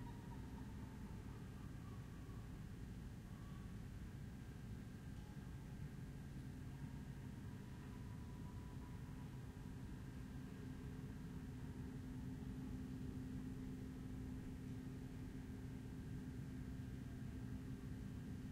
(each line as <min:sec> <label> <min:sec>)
0:00.0 air conditioning 0:18.5